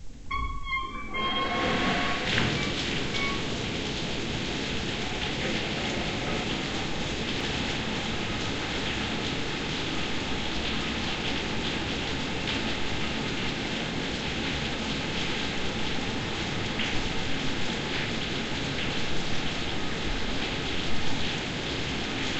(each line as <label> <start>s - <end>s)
Large valve opening 0.2s - 7.9s
water rushing 0.6s - 14.0s